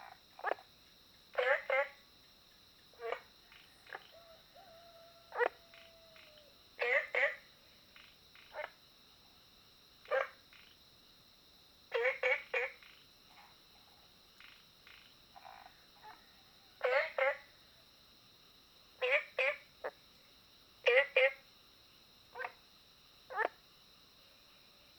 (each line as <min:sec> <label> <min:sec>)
0:00.0 Frogs chirping 0:09.4
0:10.0 Frogs chirping 0:10.8
0:11.9 Frogs chirping 0:18.0
0:18.9 Frogs chirping 0:24.9